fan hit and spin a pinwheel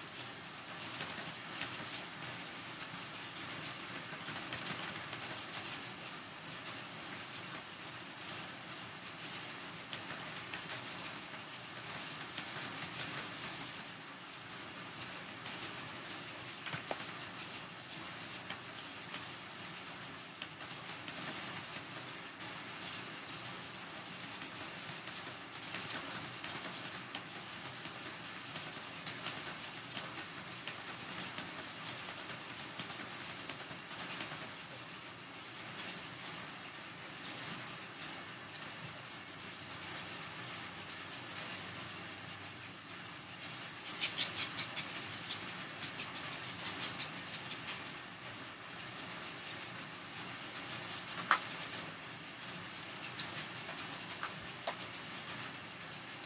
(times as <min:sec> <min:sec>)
0:00.0 0:14.0